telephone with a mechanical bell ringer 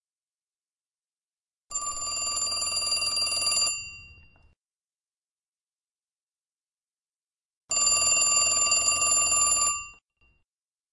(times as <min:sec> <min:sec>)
0:01.7 0:04.5, 0:07.7 0:10.4